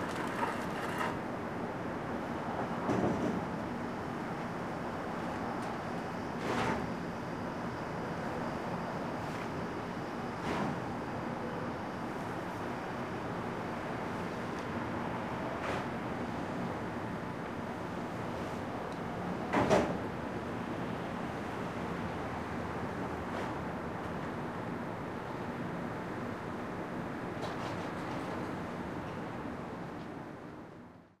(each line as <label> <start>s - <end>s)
cart with plastic wheels on asphalt 0.0s - 1.2s